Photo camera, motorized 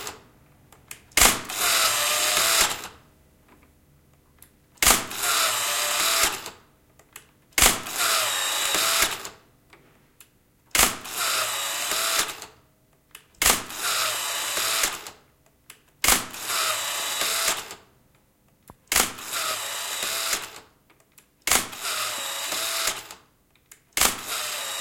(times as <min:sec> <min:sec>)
0:01.2 0:02.9, 0:05.1 0:06.5, 0:07.8 0:09.3, 0:11.0 0:12.5, 0:13.5 0:15.1, 0:16.1 0:17.8, 0:19.0 0:20.6, 0:21.6 0:23.2, 0:24.0 0:24.8